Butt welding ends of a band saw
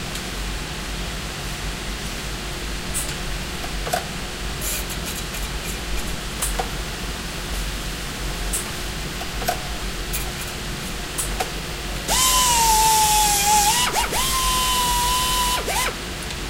0:12.1 0:16.0

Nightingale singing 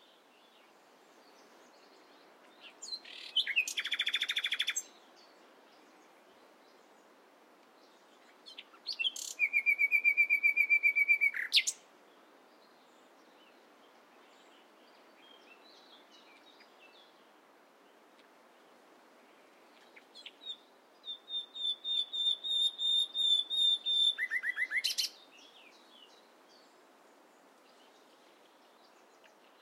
0:01.4 0:05.8, 0:07.8 0:11.8, 0:19.7 0:26.7

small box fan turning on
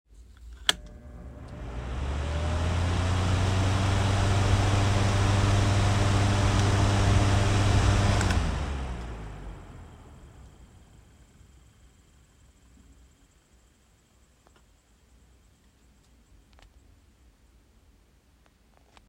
0:00.6 0:14.2

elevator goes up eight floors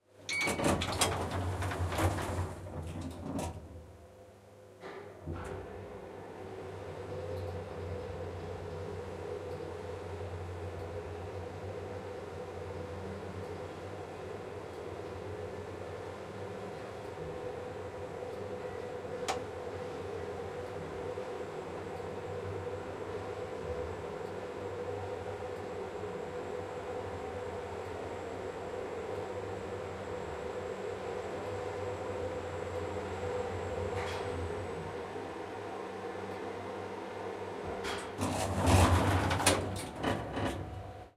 0:00.3 0:03.7, 0:14.8 0:41.1

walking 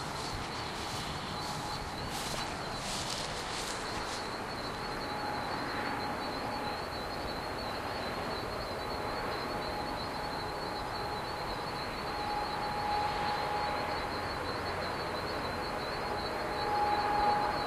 0:00.0 0:04.9

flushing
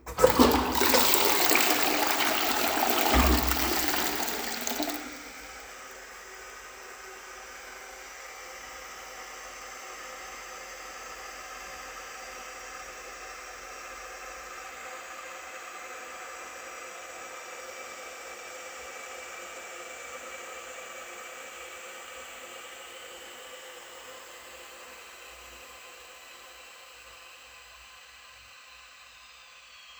0:00.0 0:06.1

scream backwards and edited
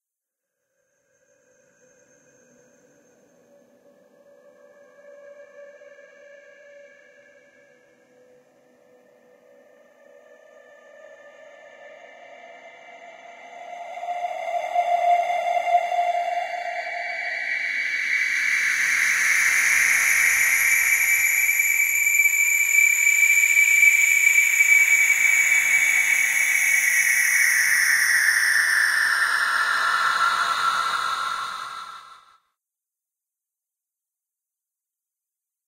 0:22.7 0:32.3

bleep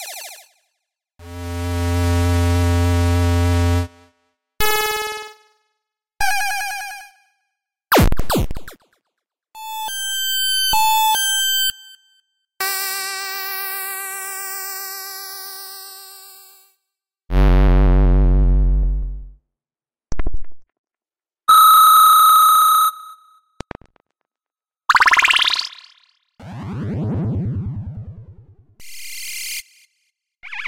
0:21.5 0:23.4, 0:24.9 0:26.0

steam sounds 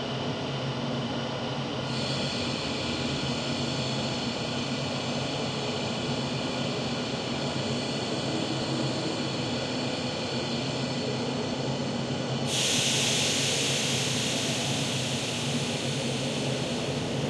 0:12.4 0:17.2

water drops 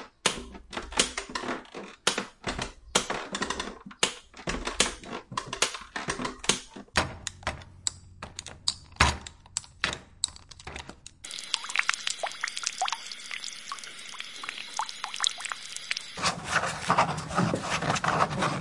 0:11.2 0:16.2

